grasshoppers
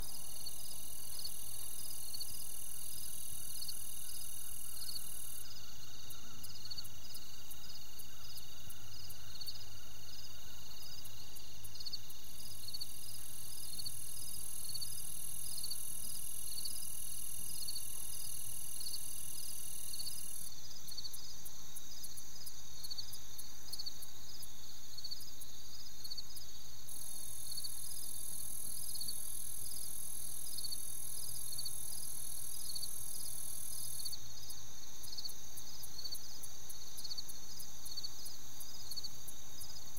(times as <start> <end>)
0.0 9.6, 26.4 39.9